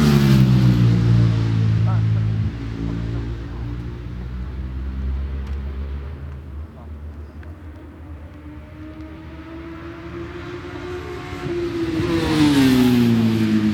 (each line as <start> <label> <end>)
0.0 superbike qualifying 13.7